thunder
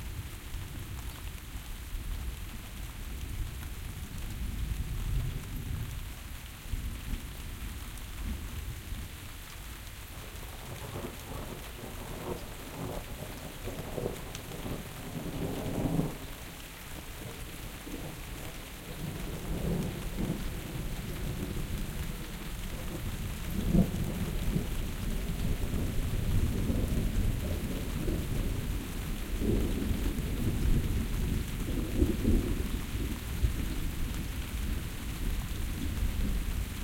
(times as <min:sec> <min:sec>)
0:22.8 0:33.8